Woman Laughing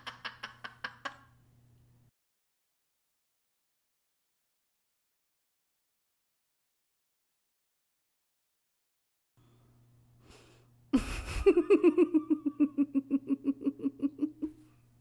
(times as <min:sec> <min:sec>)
0:00.0 0:01.3, 0:11.0 0:14.7